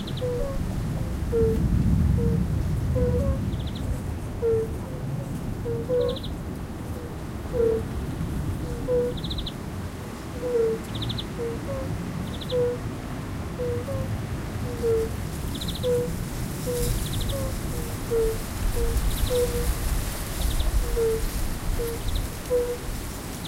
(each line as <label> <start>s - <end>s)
common spadefoot toads (Pelobates fuscus) mate calling sounds 0.0s - 3.8s
Fire-bellied toads 0.0s - 4.8s
windy 0.0s - 23.4s
common spadefoot toads (Pelobates fuscus) mate calling sounds 4.4s - 5.0s
Fire-bellied toads 5.6s - 6.3s
common spadefoot toads (Pelobates fuscus) mate calling sounds 5.6s - 6.3s
common spadefoot toads (Pelobates fuscus) mate calling sounds 7.0s - 7.9s
Fire-bellied toads 7.0s - 8.0s
Fire-bellied toads 8.6s - 9.6s
common spadefoot toads (Pelobates fuscus) mate calling sounds 8.6s - 9.6s
Fire-bellied toads 10.4s - 12.8s
common spadefoot toads (Pelobates fuscus) mate calling sounds 10.4s - 12.8s
common spadefoot toads (Pelobates fuscus) mate calling sounds 13.6s - 19.8s
Fire-bellied toads 13.6s - 23.4s
common spadefoot toads (Pelobates fuscus) mate calling sounds 20.4s - 23.4s